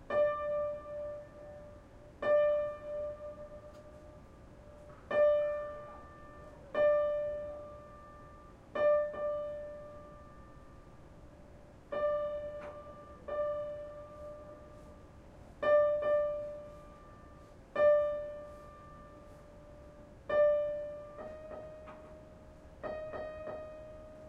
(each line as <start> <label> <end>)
0.0 tuning piano 24.2